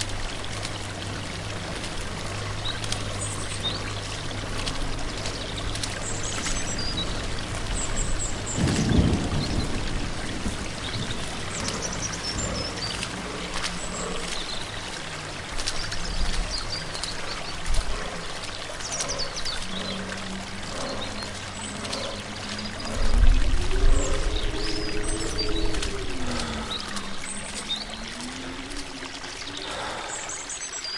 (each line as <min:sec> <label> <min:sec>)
0:00.0 Walking through a forest 0:30.9
0:00.0 creek 0:30.9
0:00.0 rain 0:30.9
0:07.6 thunderstorm 0:12.7